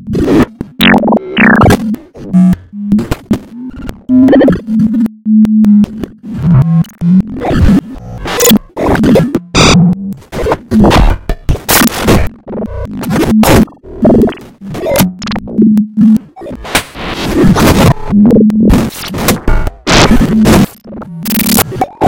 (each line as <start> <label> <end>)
0.2 random tones/textures 10.8